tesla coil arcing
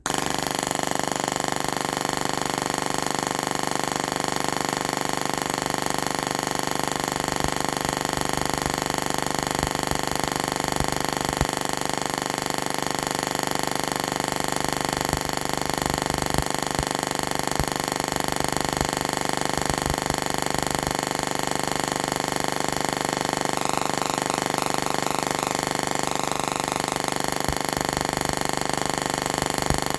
5.0 12.6, 14.3 29.9

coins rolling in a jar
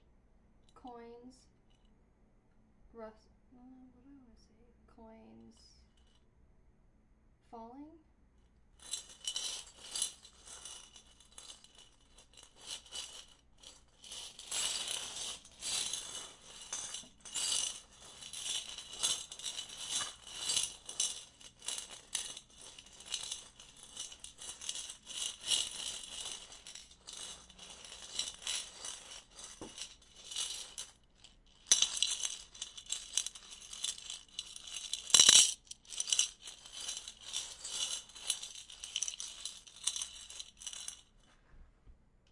8.8 41.2

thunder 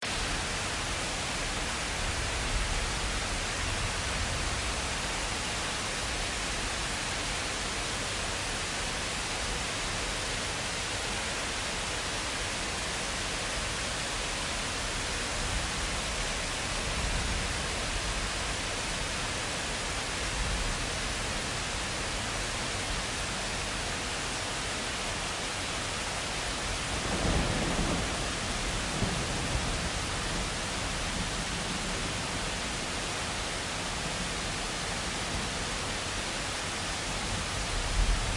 27.0 30.5

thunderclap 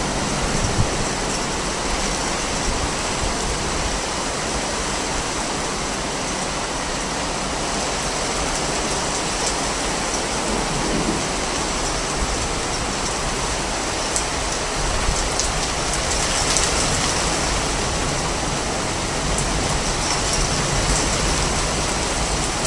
10.4 13.4

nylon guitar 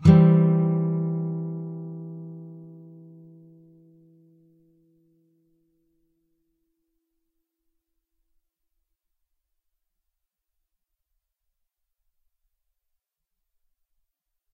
0.0 5.6

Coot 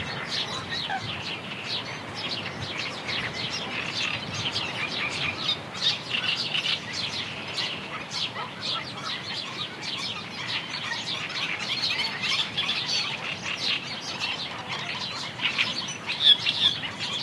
7.5 17.2

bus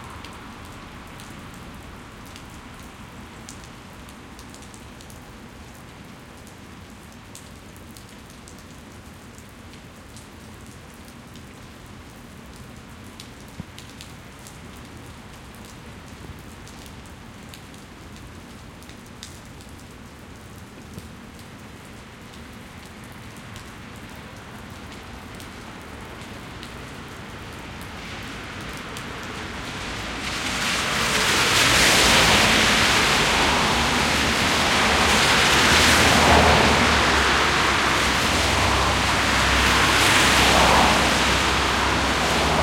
0.0 6.9, 21.3 42.6

